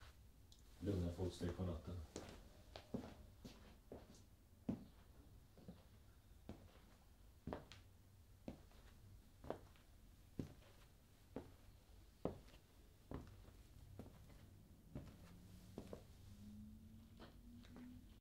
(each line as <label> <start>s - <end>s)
Quiet footsteps 0.8s - 18.2s